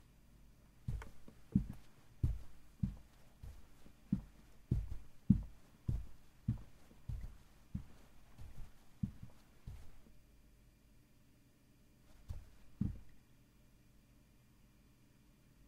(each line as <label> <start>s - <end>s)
steps in boots on carpet 0.9s - 10.1s
steps in boots on carpet 12.1s - 13.1s